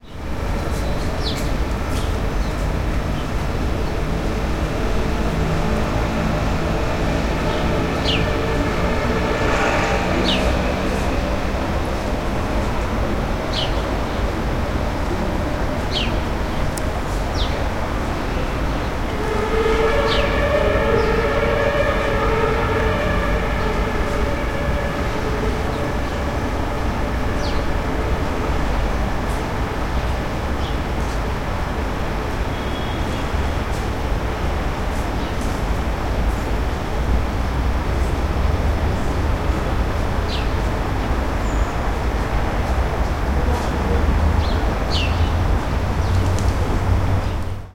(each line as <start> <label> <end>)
5.4 sirens in the background 13.2
18.8 sirens in the background 30.6